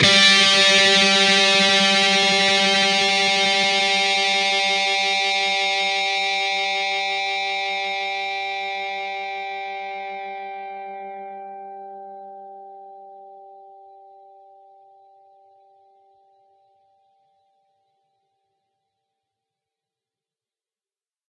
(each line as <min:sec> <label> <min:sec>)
0:00.0 distorted guitar 0:13.2